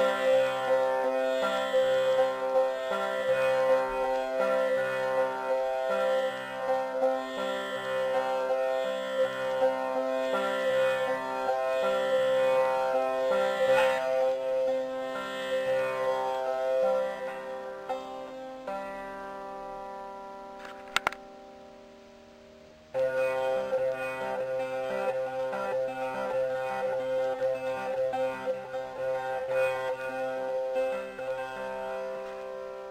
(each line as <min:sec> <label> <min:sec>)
0:00.0 tanpura 0:32.9